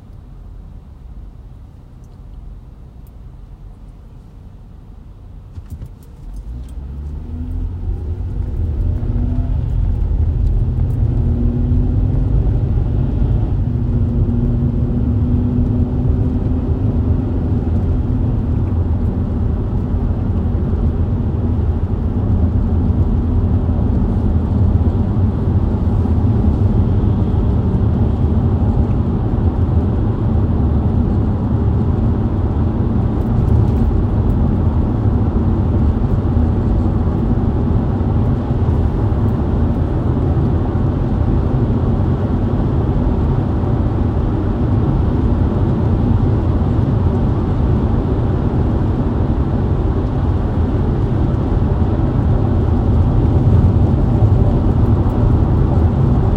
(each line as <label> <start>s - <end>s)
driving on the highway 0.0s - 56.3s